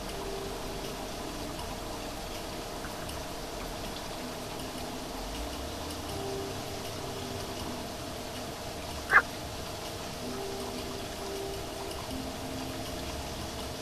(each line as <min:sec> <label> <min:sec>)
0:09.0 Frog 0:09.3